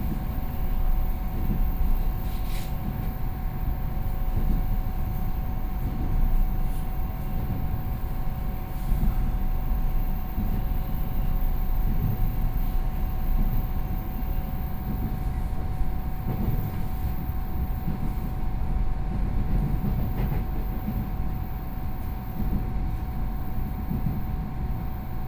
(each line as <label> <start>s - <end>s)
On the train 0.0s - 25.2s